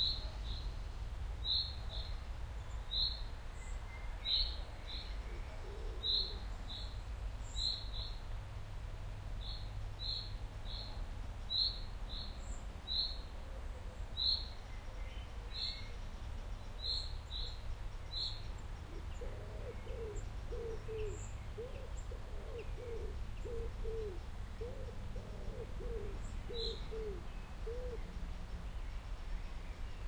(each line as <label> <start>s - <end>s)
birds 1.4s - 8.3s
birds 9.4s - 30.0s